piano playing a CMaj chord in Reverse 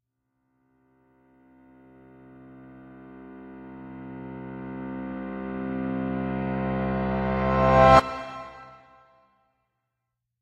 2.2s 9.1s

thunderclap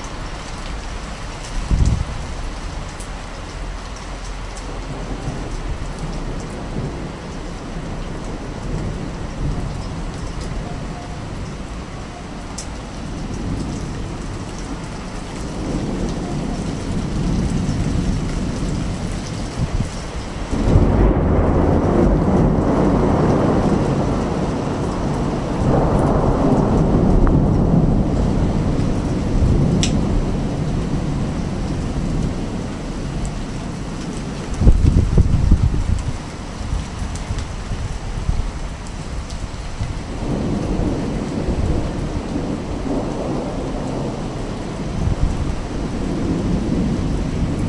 1.5s 2.6s, 12.4s 47.6s

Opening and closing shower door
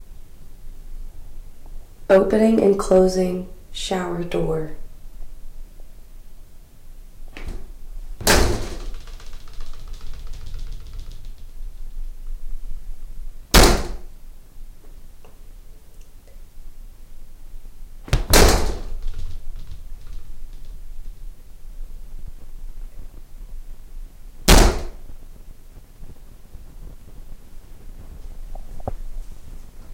7.3s 11.6s, 13.5s 14.1s, 18.1s 21.2s

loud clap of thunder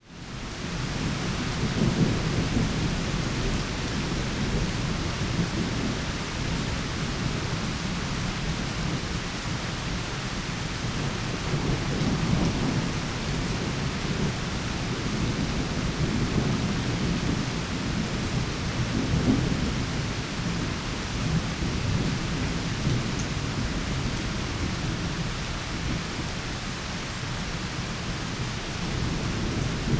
18.1s 20.6s

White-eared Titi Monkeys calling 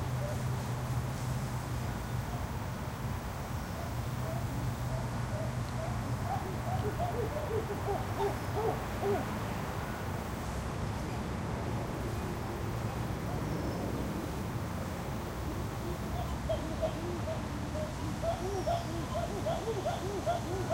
3.8s 9.3s, 15.5s 20.7s

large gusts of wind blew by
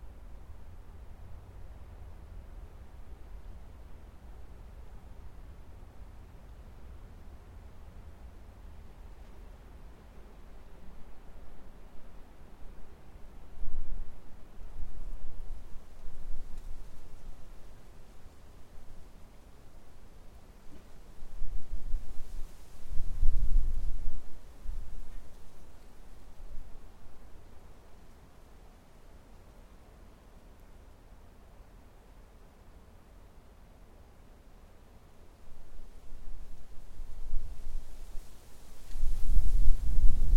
36.1s 40.3s

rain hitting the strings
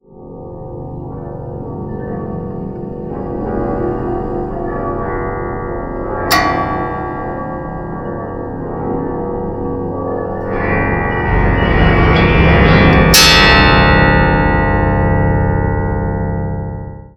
6.3s 8.8s

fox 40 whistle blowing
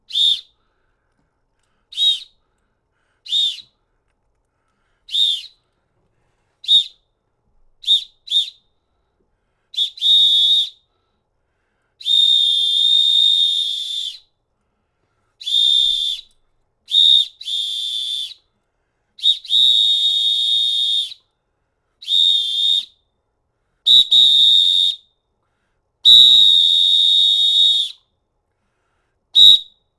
0.1s 0.6s, 1.9s 2.4s, 3.2s 3.8s, 5.1s 5.6s, 6.6s 7.0s, 7.8s 8.8s, 9.7s 10.9s, 12.0s 14.3s, 15.4s 18.4s, 19.2s 21.3s, 22.0s 23.0s, 23.9s 25.1s, 26.0s 28.1s, 29.4s 29.8s

